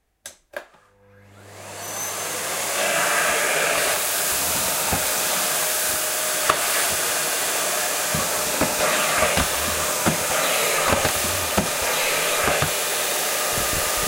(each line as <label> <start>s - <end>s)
Starting the vacuum cleaner 1.2s - 14.0s